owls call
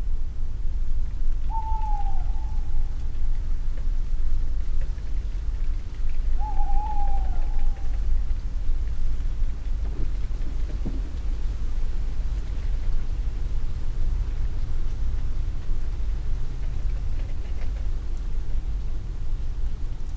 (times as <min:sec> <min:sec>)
0:01.5 0:02.9, 0:06.4 0:08.1